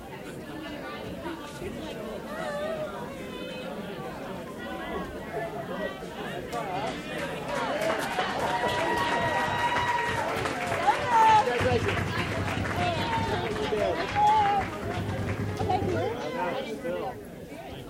people on the phone banks started cheering 8.0 - 14.8

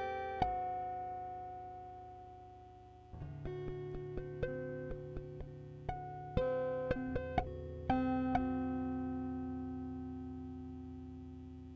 Guitar tapping 3.1 - 11.7

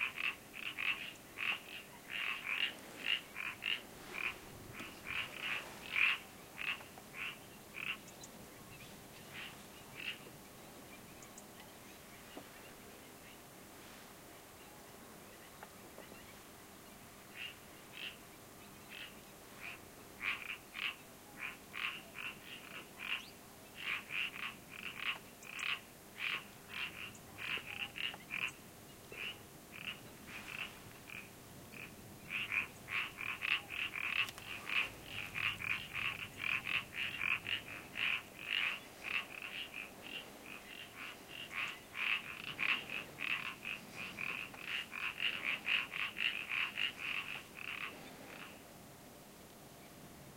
frogs calling 0.0 - 8.3
birds 0.0 - 48.7
frogs calling 9.3 - 10.3
frogs calling 17.3 - 18.2
frogs calling 18.9 - 48.6

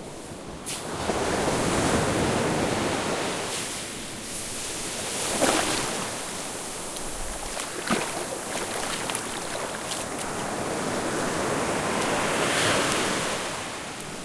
ocean waves crashing and misting 0.9 - 14.2
Walking on thick-grained black sand 5.3 - 13.2

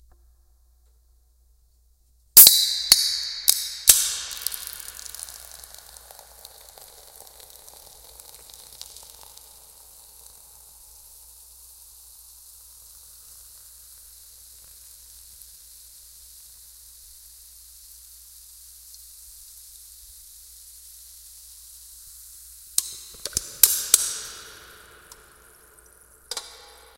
flint and steel lighting a fire 2.4 - 10.7
flint and steel lighting a fire 22.8 - 26.8

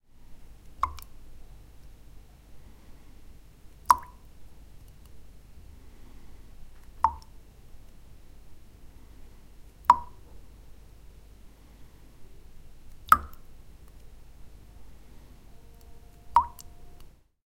Water dropping and dripping into a glass 0.7 - 1.1
Water dropping and dripping into a glass 3.8 - 4.3
Water dropping and dripping into a glass 6.9 - 7.3
Water dropping and dripping into a glass 9.8 - 10.3
Water dropping and dripping into a glass 12.9 - 13.5
Water dropping and dripping into a glass 16.3 - 16.7

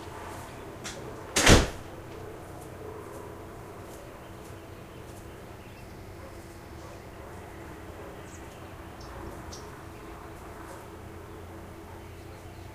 birds 0.0 - 12.7
barking 1.9 - 4.3
barking 6.1 - 8.4
barking 10.5 - 12.7

